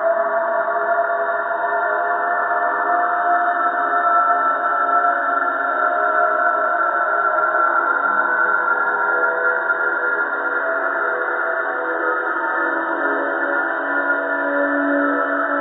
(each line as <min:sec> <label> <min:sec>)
0:00.0 slowly evolving ambient drone pad 0:15.6